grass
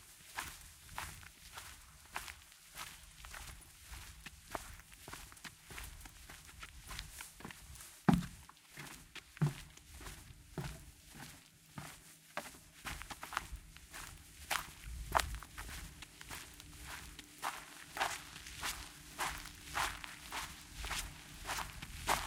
12.8 22.2

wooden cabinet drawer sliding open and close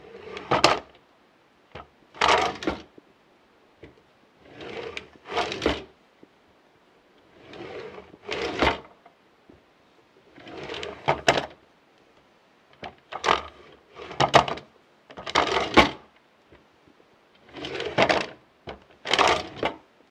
0.0 0.9, 1.8 2.9, 3.8 5.9, 7.3 9.0, 10.3 11.6, 12.8 16.1, 17.4 19.8

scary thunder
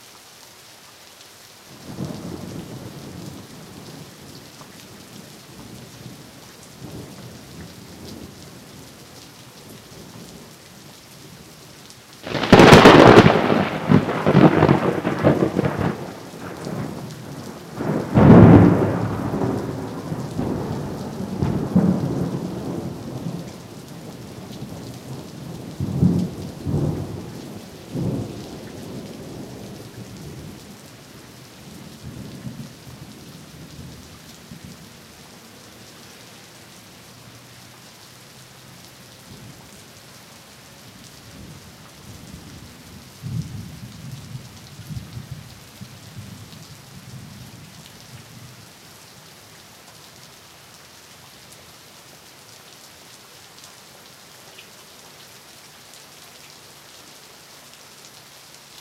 12.3 16.2

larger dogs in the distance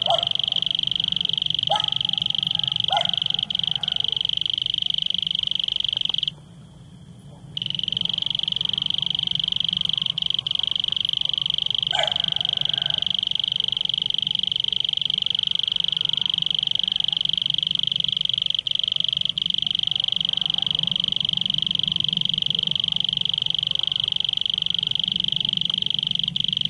0.0 0.8, 1.6 4.3, 10.4 13.7

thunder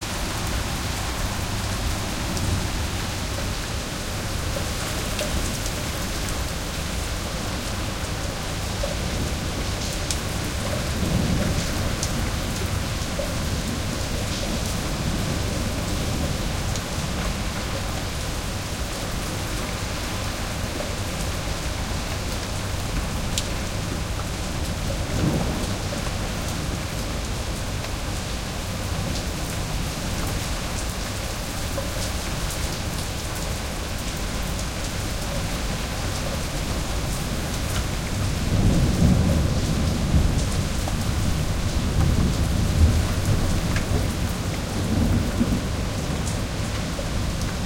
25.0 26.9, 38.1 46.7

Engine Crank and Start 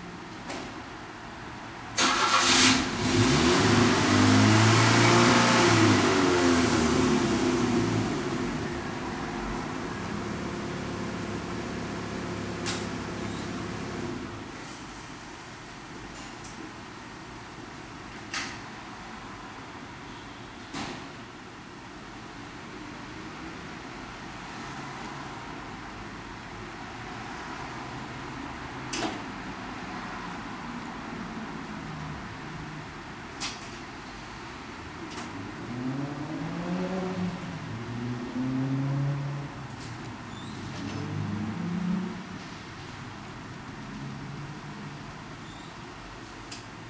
2.0 3.2

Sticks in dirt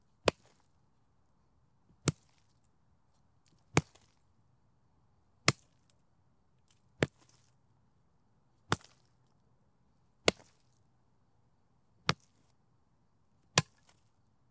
0.2 0.7, 2.0 2.6, 3.5 4.2, 6.6 7.6, 8.7 9.2, 10.2 10.8, 12.1 12.5, 13.6 14.2

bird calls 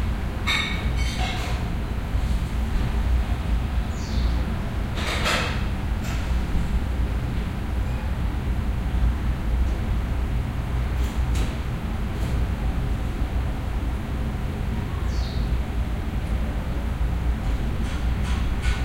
15.1 15.5

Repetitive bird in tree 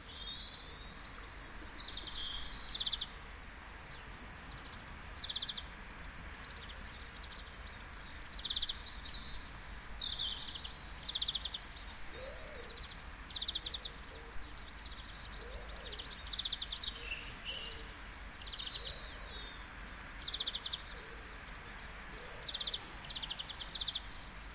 6.4 24.5

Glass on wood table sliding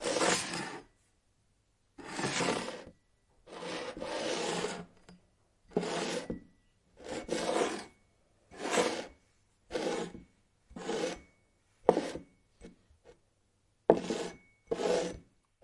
0.0 0.8, 2.0 2.9, 3.5 4.9, 5.7 6.4, 7.0 7.9, 8.6 9.1, 9.7 10.2, 10.8 11.3, 11.9 12.2, 13.9 15.2

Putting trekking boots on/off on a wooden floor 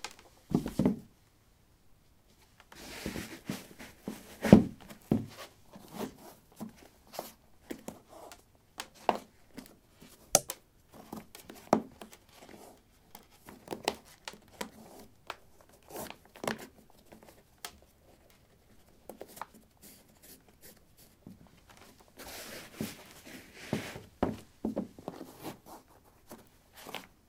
23.6 25.0

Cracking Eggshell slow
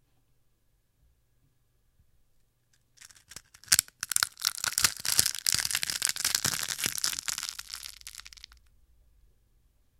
3.0 8.6

